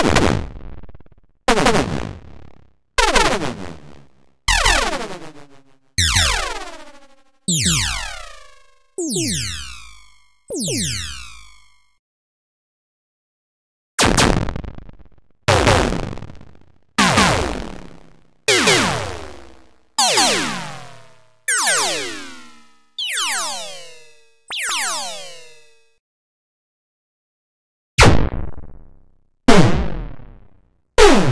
laser 0:04.5 - 0:11.8

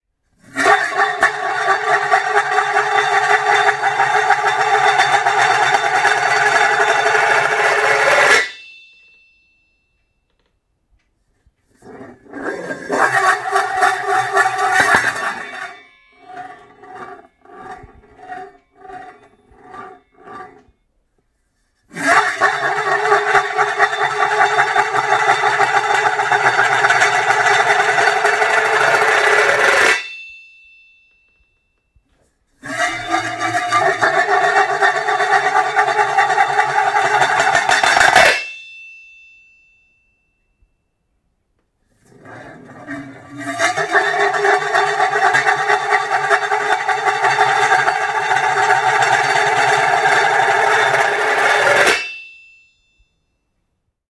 Metallic lid of pan rolling in the kitchen counter 0:00.4 - 0:08.6
Metallic lid of pan rolling in the kitchen counter 0:11.8 - 0:20.8
Metallic lid of pan rolling in the kitchen counter 0:22.0 - 0:30.2
Metallic lid of pan rolling in the kitchen counter 0:32.6 - 0:38.6
Metallic lid of pan rolling in the kitchen counter 0:42.0 - 0:52.4

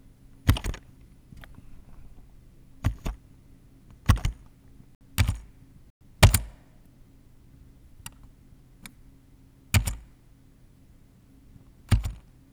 Computers Keyboard - key Press 0:00.3 - 0:03.3
Computers Keyboard - key Press 0:03.9 - 0:05.6
Computers Keyboard - key Press 0:06.2 - 0:06.7
Computers Keyboard - key Press 0:09.7 - 0:10.2
Computers Keyboard - key Press 0:11.9 - 0:12.3

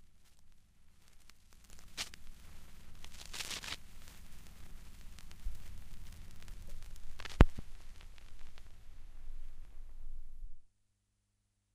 Record needle (stylus) runs off the end of the record (LP) 0:01.1 - 0:08.8

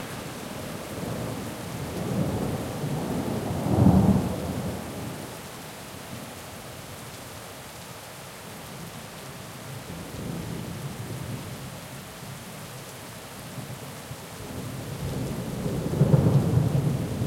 rain 0:00.0 - 0:17.2
thunder 0:15.0 - 0:17.2

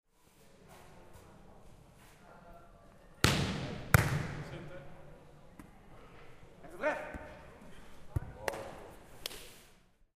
ball 0:03.2 - 0:04.5
ball 0:08.1 - 0:09.5

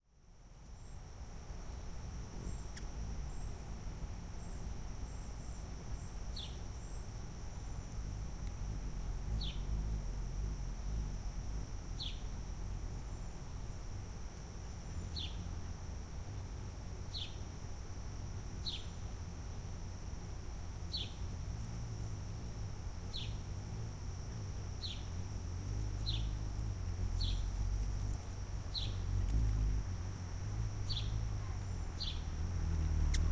hummingbird feeding in a cluster of bee-balm 0:00.0 - 0:33.3

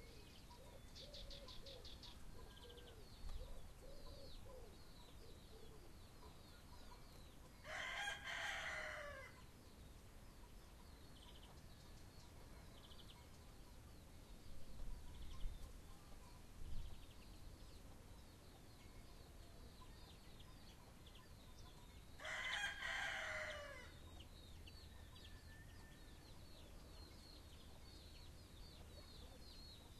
Blackbird sings a beautiful song 0:00.0 - 0:08.5

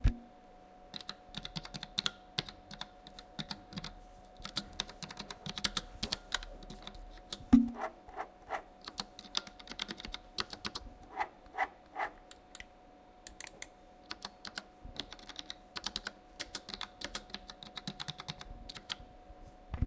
typing with a keyboard 0:00.9 - 0:07.4
typing with a keyboard 0:08.8 - 0:10.8
typing with a keyboard 0:13.3 - 0:19.0

